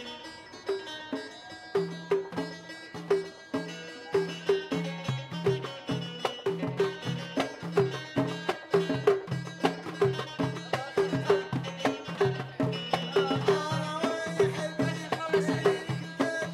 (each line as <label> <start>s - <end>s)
Young guys performing traditional songs 0.0s - 16.5s